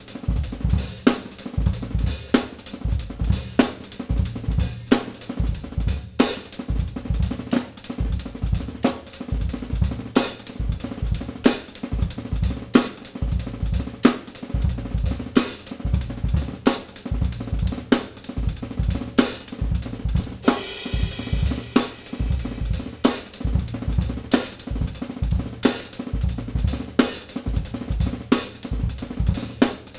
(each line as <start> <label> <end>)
20.4 smooth snare rolls 24.8